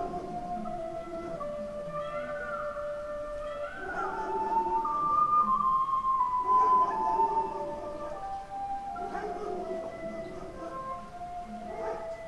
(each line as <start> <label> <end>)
0.0 aching fairy-tale broadcasted through the one street 12.2